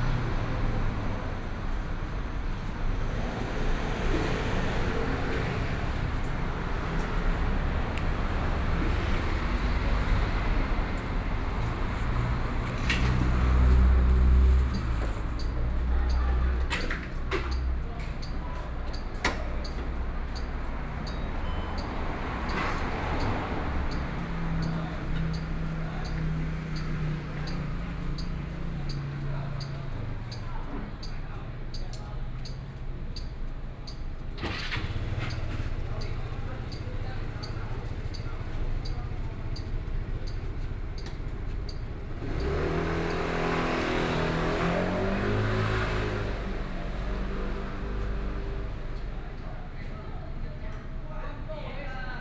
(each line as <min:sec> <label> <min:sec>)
0:00.0 Traffic Sound 0:52.2
0:00.0 many people on the road 0:52.2